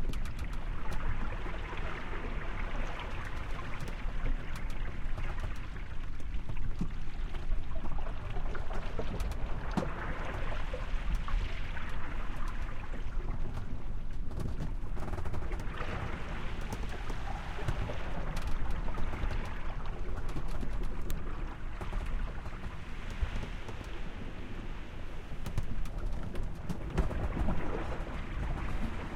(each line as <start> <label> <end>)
0.0 Sailboat Sailing Interior 29.1
0.0 water 29.1